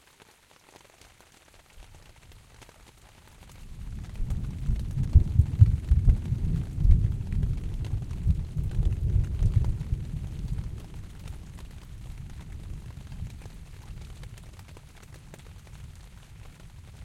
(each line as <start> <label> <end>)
0.0 rain on tent sail 17.0
3.6 thunder with reverb from valley nearby 17.0